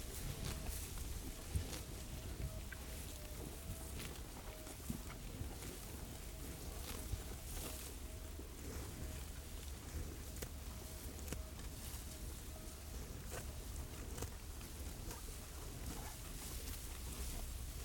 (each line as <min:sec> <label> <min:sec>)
0:00.0 cows chewing grass 0:17.8